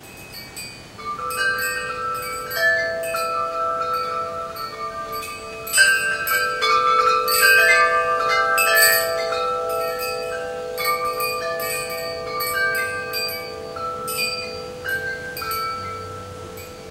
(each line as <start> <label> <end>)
0.0 chimes 16.9
0.0 hiss/background noise 16.9
0.0 wind 16.9